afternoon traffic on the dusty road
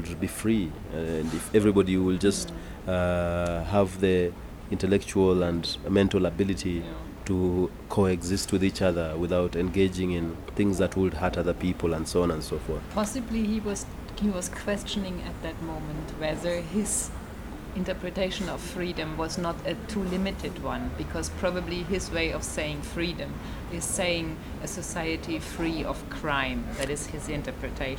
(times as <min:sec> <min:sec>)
0:00.0 0:03.0, 0:09.6 0:27.9